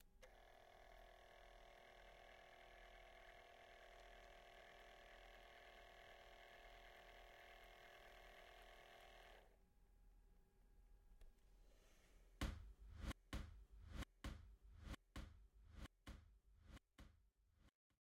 Continuous printing sound from a small Brother tag printer 0.2 - 9.4

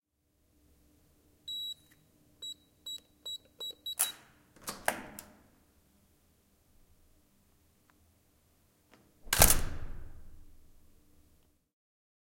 Keycard lock + code 1.5 - 5.0
Opening a code protected door 2.9 - 5.4
Opening a code protected door 9.2 - 10.3

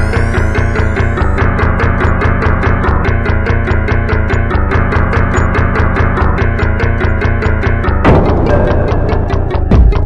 short music sample 8.0 - 10.0

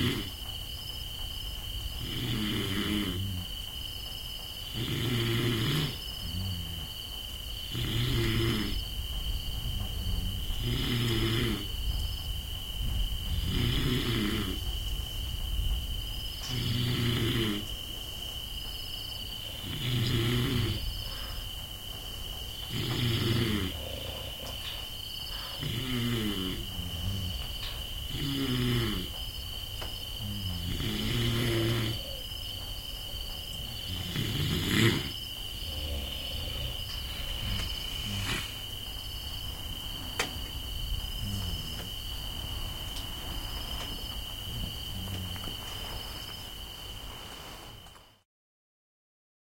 snoreing 0.0 - 0.4
crickets 0.0 - 48.3
snoreing 2.0 - 3.6
snoreing 4.7 - 9.0
snoreing 9.7 - 11.8
snoreing 13.3 - 14.7
snoreing 16.4 - 17.8
snoreing 19.4 - 21.4
snoreing 22.7 - 29.2
snoreing 30.0 - 32.5
snoreing 33.5 - 39.0
snoreing 40.8 - 46.3

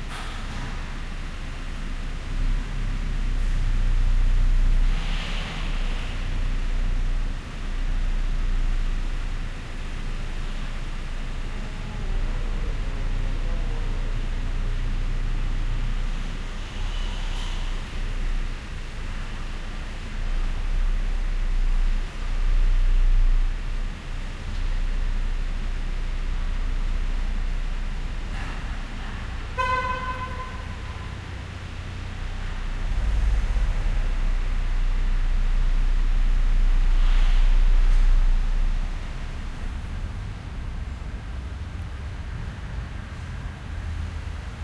cars parking and passing by slowly 0.0 - 44.6

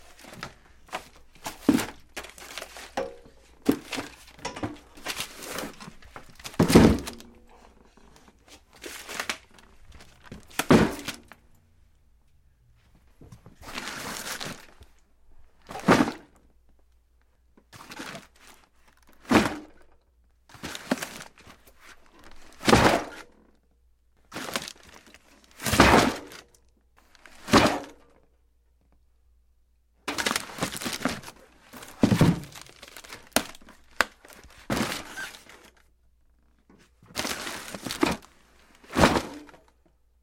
cardboard boxes full of papers and files move 0.0 - 11.4
cardboard boxes full of papers and files move 12.7 - 15.0
cardboard boxes full of papers and files move 15.6 - 16.4
cardboard boxes full of papers and files move 17.6 - 23.3
cardboard boxes full of papers and files move 24.3 - 26.4
cardboard boxes full of papers and files move 27.0 - 27.9
cardboard boxes full of papers and files move 30.1 - 36.0
cardboard boxes full of papers and files move 36.6 - 39.9

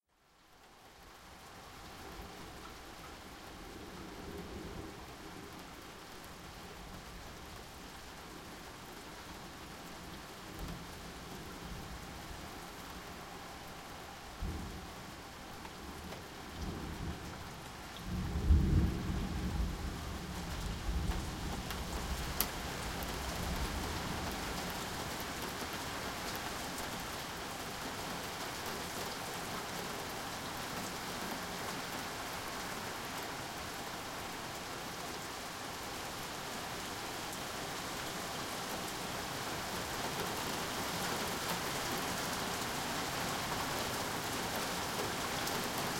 rain getting heavier 0.2 - 45.9
Thunder 18.0 - 21.3

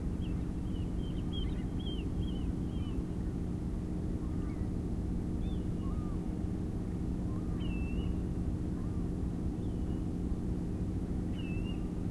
curlew 5.4 - 6.2

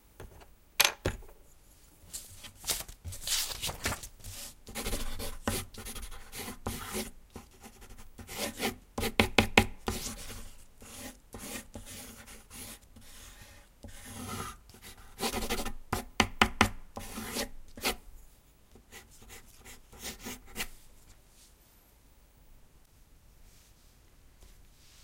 fast sketch done with soft (3B) pencil on rough paper 4.2 - 18.0
fast sketch done with soft (3B) pencil on rough paper 18.9 - 20.8

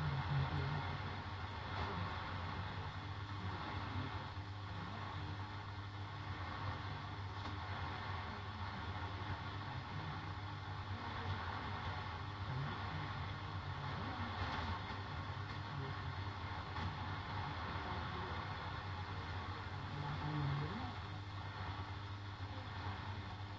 faint broadcast signal with interference and some hiss 0.0 - 23.5

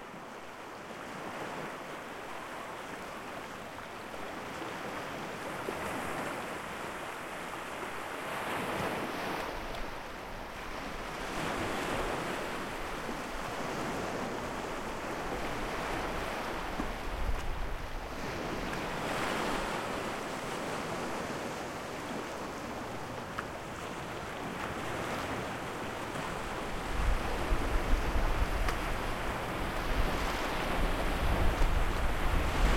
Small waves on a rocky beach 0.0 - 32.7

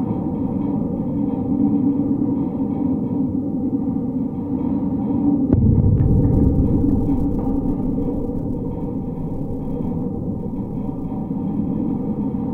Metal wire fence vibrating in the wind 5.5 - 12.5

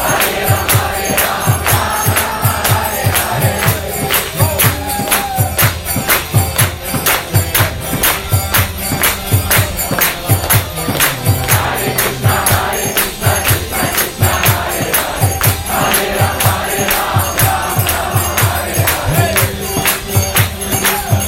instruments 0.0 - 21.2
kirtan song 0.0 - 21.2

